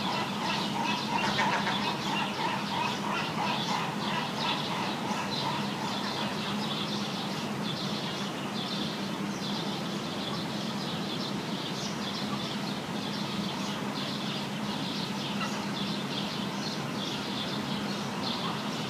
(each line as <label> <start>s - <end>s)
seagulls 0.0s - 6.6s
birdsong 0.0s - 18.8s